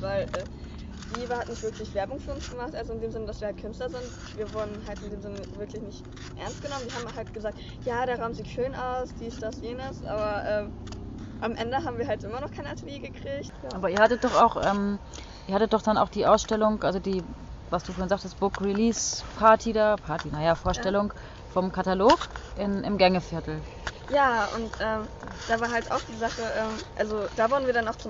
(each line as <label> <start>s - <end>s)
schülerInnen erzählen 11.4s - 28.0s